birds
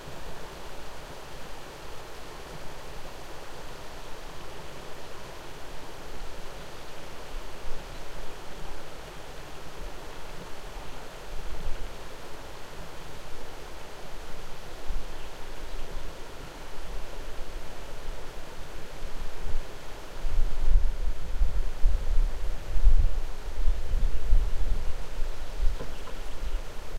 24.8 26.9

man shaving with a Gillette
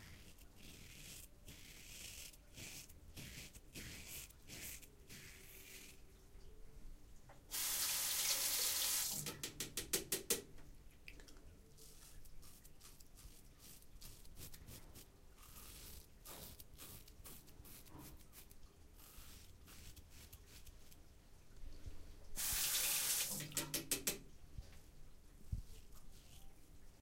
0.0 6.0, 11.8 21.0

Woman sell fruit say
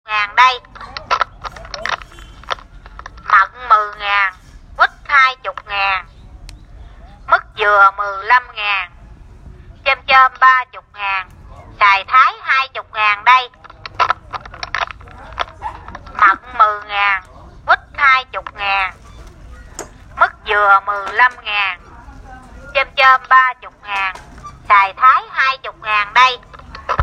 9.9 13.6, 20.2 27.0

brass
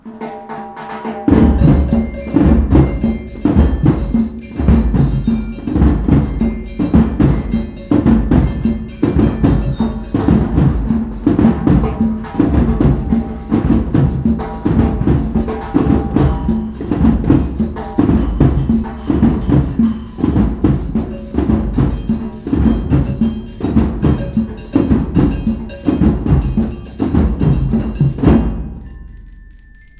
11.2 19.5

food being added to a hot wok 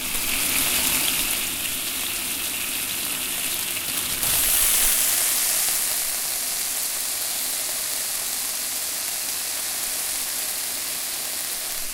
3.9 7.9

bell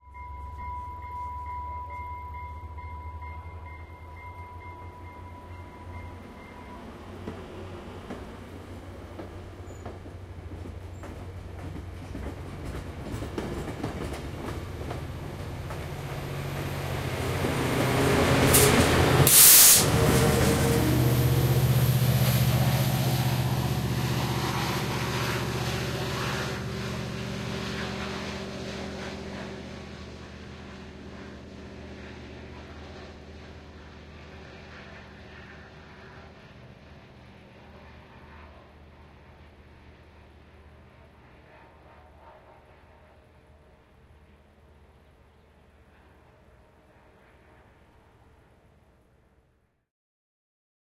0.0 6.9

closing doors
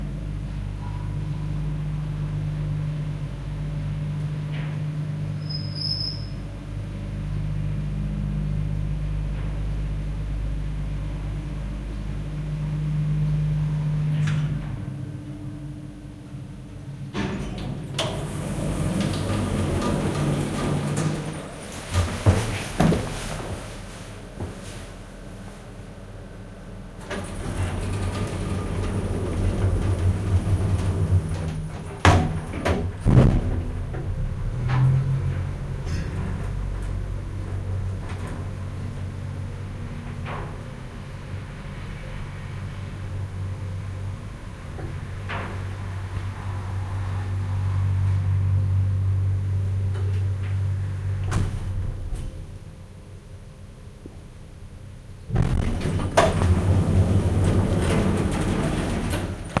17.0 23.8, 27.0 48.6, 49.8 52.8, 55.3 59.6

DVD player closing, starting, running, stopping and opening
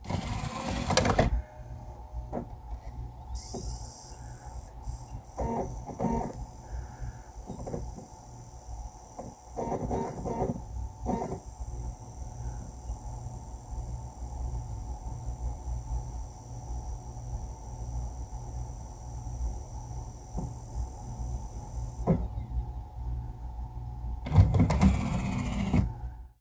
0.0 1.5, 5.2 6.5, 9.1 11.5, 22.0 22.5, 24.2 25.9

